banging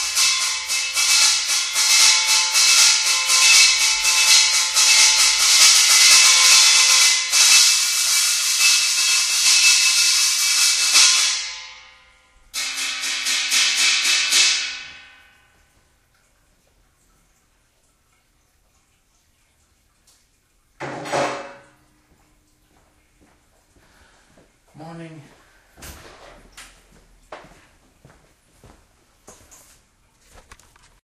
0.0 15.6, 20.8 21.8

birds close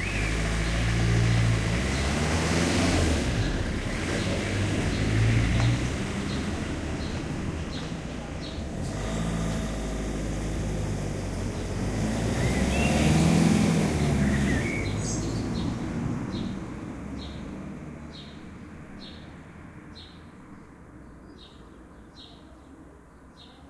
0.0 9.4, 11.4 16.6

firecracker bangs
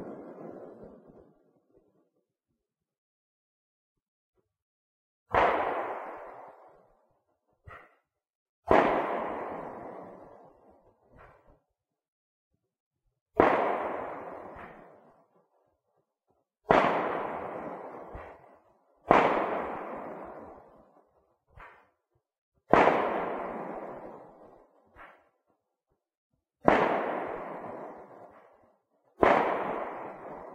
5.3 6.4, 8.6 10.1, 13.4 15.1, 16.6 20.6, 22.7 25.3, 26.6 28.6, 29.2 30.5

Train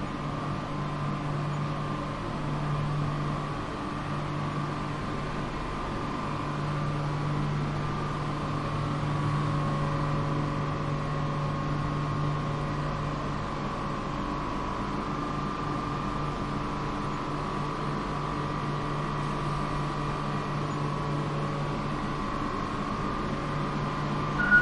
24.4 24.6

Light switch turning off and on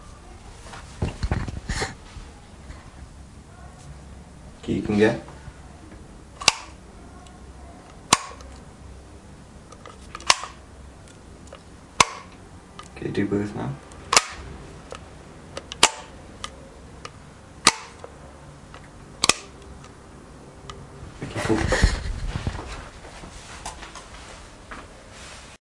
6.4 6.8, 7.9 8.7, 9.7 13.0, 13.9 15.0, 15.6 20.0

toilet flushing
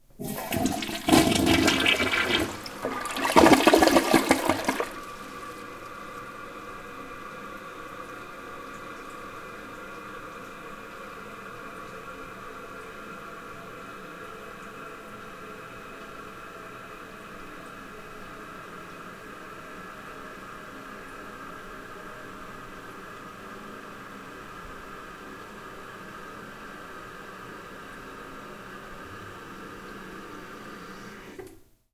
0.0 10.7, 28.9 31.6

